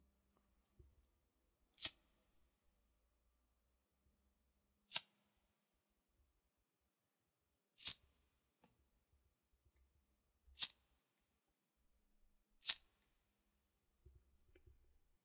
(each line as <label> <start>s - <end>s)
homemade lighter 7.8s - 8.0s
homemade lighter 10.6s - 10.8s
homemade lighter 12.6s - 12.9s